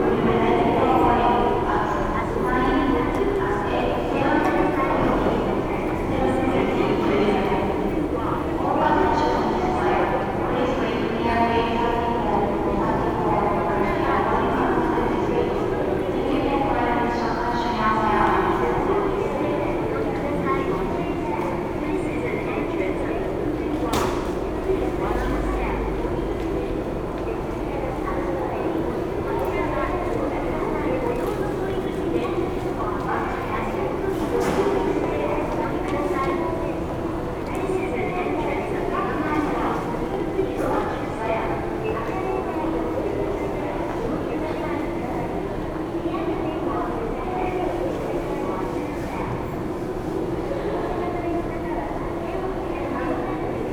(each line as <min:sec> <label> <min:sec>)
0:00.0 announcements 0:53.7
0:00.0 passengers passing by 0:53.7